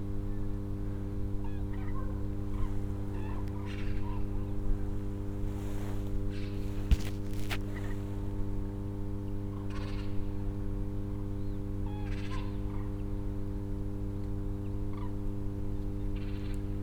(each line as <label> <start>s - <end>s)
rustle of leaves 5.0s - 8.4s